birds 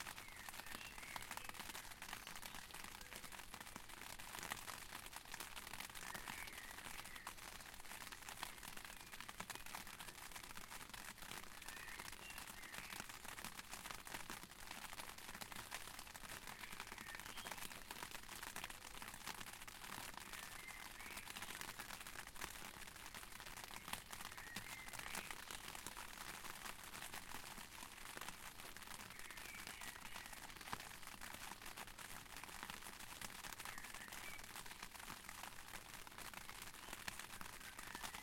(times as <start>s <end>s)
0.1s 3.4s, 5.8s 7.7s, 11.5s 13.2s, 16.5s 17.9s, 20.1s 22.0s, 23.6s 26.0s, 29.0s 31.9s, 33.5s 34.9s, 36.8s 38.2s